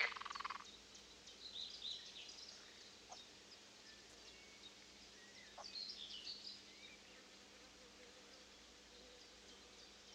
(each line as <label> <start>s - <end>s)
frogs 0.0s - 0.7s
wind 0.0s - 10.1s